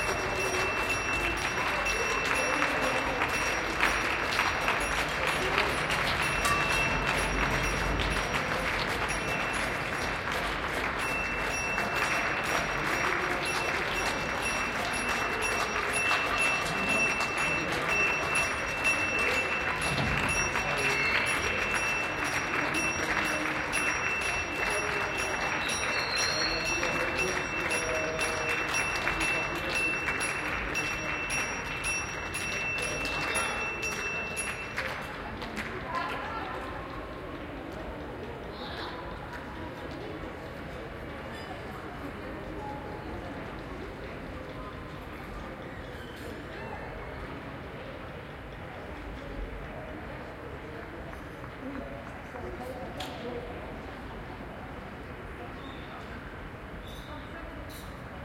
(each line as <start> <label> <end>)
0.0 applause 38.2